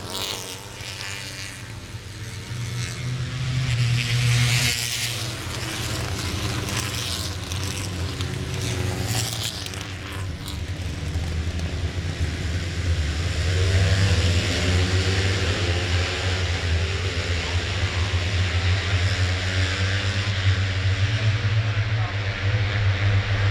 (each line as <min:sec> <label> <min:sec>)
0:00.0 british motorcycle grand prix 0:23.5